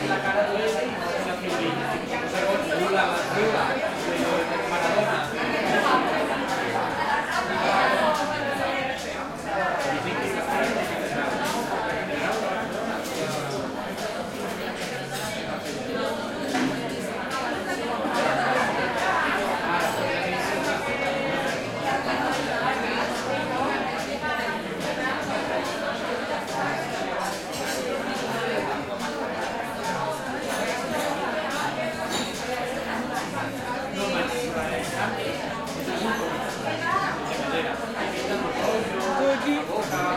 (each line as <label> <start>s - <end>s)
chatter 0.0s - 40.1s